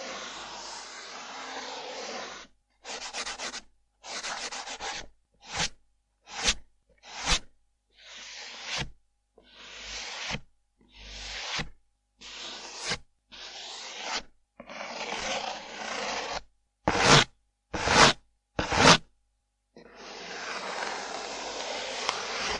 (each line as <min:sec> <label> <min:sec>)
0:00.0 Surface friction 2 0:02.5
0:11.0 Surface friction 2 0:17.2
0:19.8 Surface friction 2 0:22.5